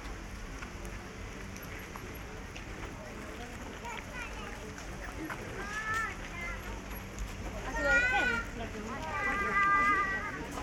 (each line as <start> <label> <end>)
0.0 Fountains 10.6
0.0 Walk around fountains 10.6